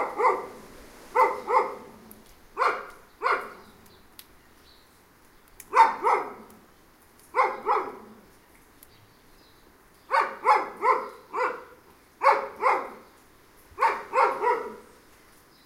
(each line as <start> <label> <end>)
0.0 Two dogs barking 3.8
5.7 Two dogs barking 6.6
7.3 Two dogs barking 8.2
10.1 Two dogs barking 13.1
13.8 Two dogs barking 15.0